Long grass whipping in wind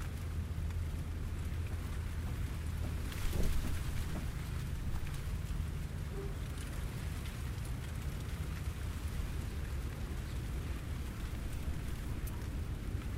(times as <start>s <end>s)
2.7s 13.1s